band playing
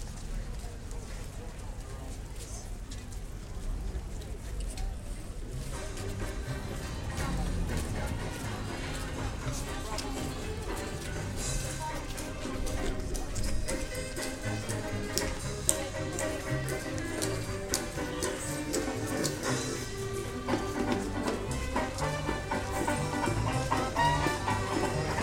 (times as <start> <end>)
5.5 25.2